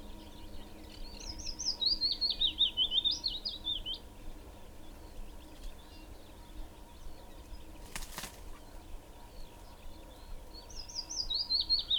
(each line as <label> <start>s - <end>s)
Willow warbler 0.0s - 11.9s
pheasant 0.0s - 11.9s